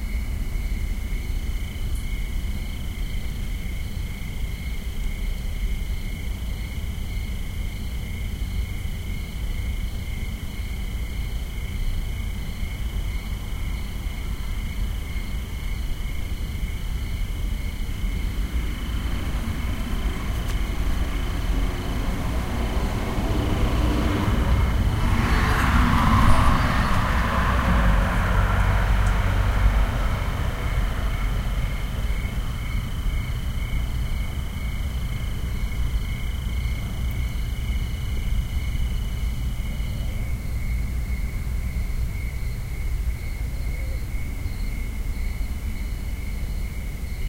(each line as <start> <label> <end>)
0.0 crickets 47.2
17.4 car with music playing passing by 39.7